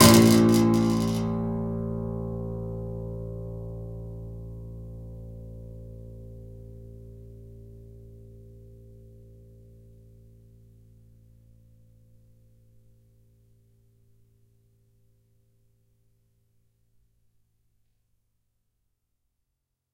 0.0s plastic ruler stuck in piano strings 1.3s

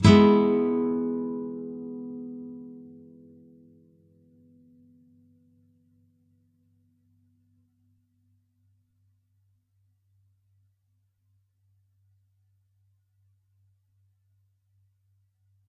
0.0s nylon guitar 6.4s

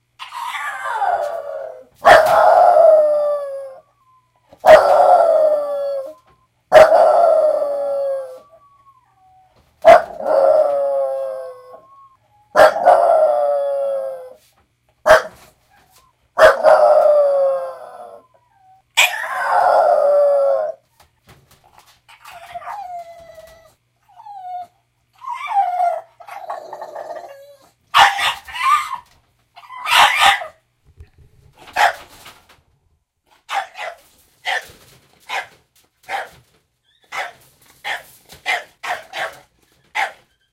0.2s Bulldog Howl 14.4s
16.4s Bulldog Howl 20.8s
22.2s Bulldog Howl 29.0s

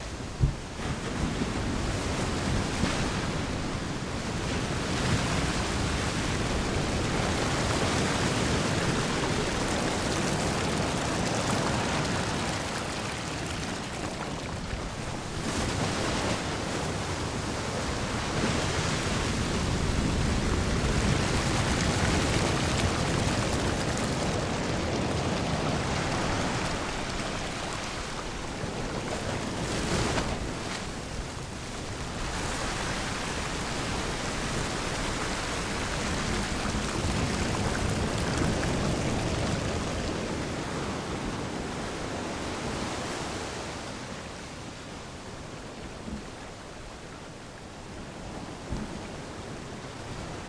0.0s Waves crashing 50.4s

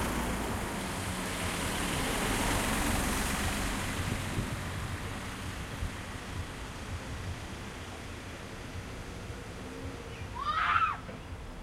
0.0s Cars 11.6s

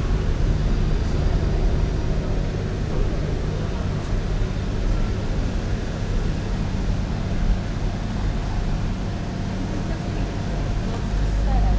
0.0s street cleaner 11.7s

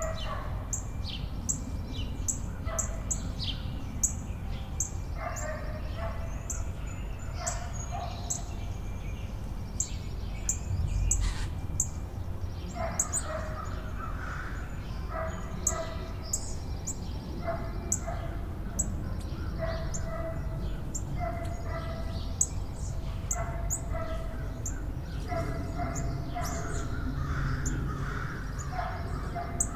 0.0s dog 0.6s
0.0s birds 29.7s
5.2s dog 6.3s
7.4s dog 8.5s
12.8s dog 13.8s
15.1s dog 16.1s
17.4s dog 18.4s
19.6s dog 20.5s
21.2s dog 22.1s
23.3s dog 24.3s
25.2s dog 26.9s
28.7s dog 29.7s

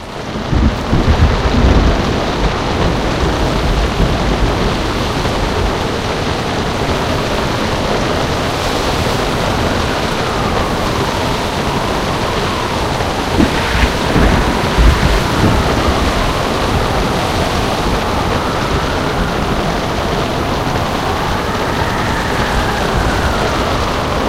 0.0s water sounds 24.2s
0.0s wind 24.2s

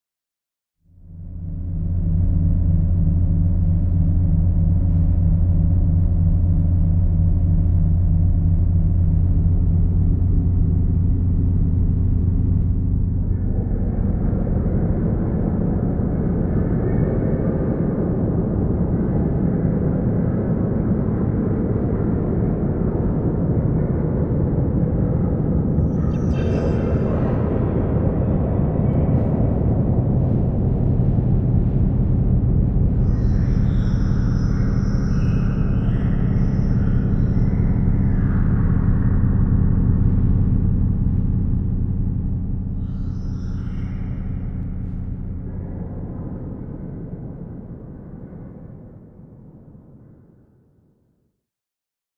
25.9s synth 49.2s

